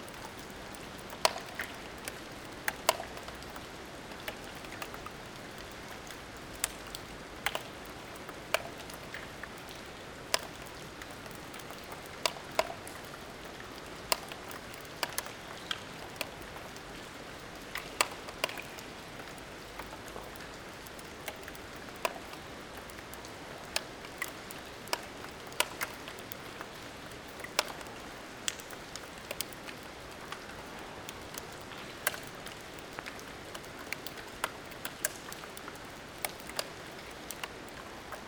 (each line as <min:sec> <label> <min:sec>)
0:00.0 rain onto the gigantic roofs of an abandoned factory 0:38.2